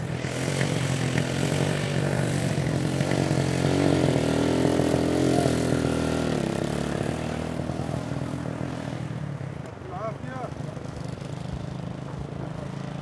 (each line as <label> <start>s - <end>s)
motorcycle throaty pull away medium speed smooth 0.0s - 13.0s